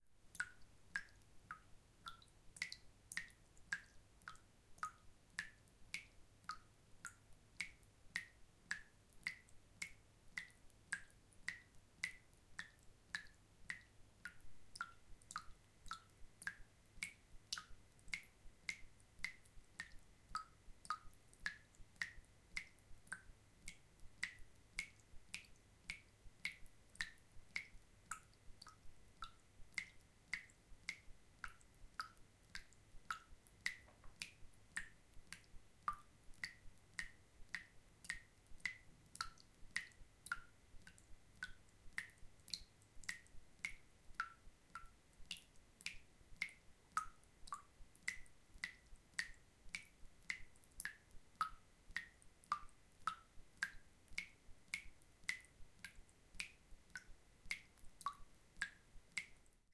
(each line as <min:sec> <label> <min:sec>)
0:00.2 fast dripping in a sink 0:59.7